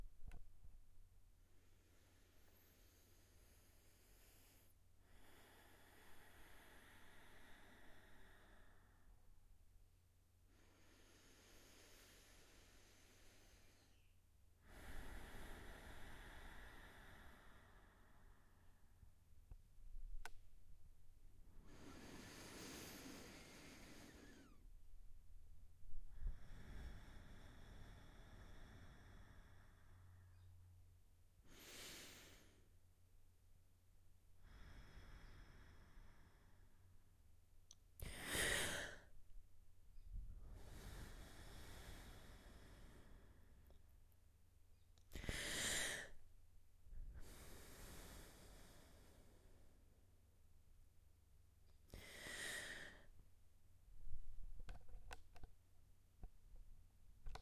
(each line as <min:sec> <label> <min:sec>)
0:01.4 slow deep breath 0:09.4
0:10.4 slow deep breath 0:20.8
0:21.4 slow deep breath 0:30.8
0:21.6 sharp intake of breath 0:24.6
0:31.4 slow deep breath 0:32.9
0:34.4 slow deep breath 0:37.1
0:38.0 slow deep breath 0:39.4
0:40.0 slow deep breath 0:44.4
0:45.1 slow deep breath 0:46.3
0:46.9 slow deep breath 0:50.6
0:51.9 slow deep breath 0:53.2